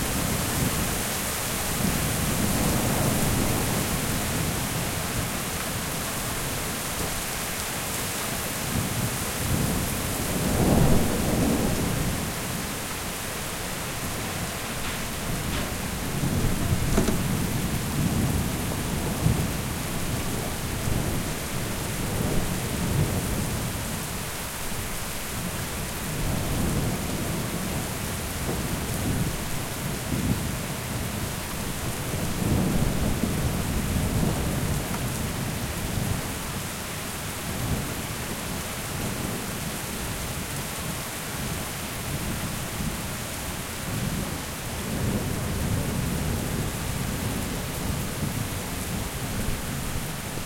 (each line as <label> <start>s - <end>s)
rain 0.0s - 50.4s